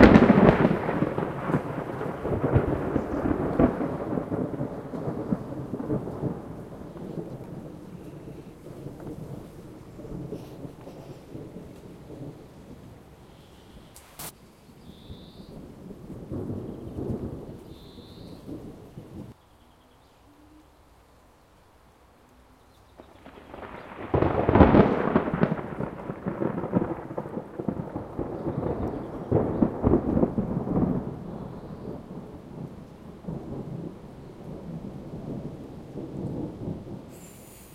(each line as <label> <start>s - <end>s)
thunder far and nearer 0.0s - 19.4s
rain 0.0s - 37.7s
thunder far and nearer 22.8s - 37.7s